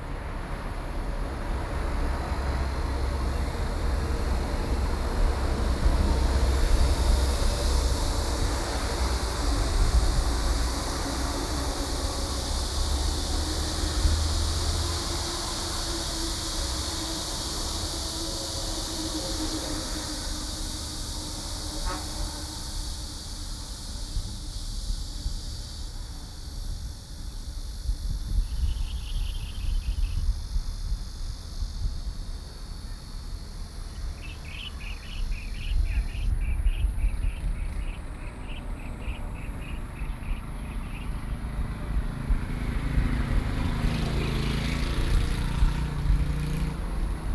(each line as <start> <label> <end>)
0.0 Traffic Sound 26.6
0.0 Cicadas cry 47.3
31.7 Traffic Sound 47.3
34.2 Bird calls 41.2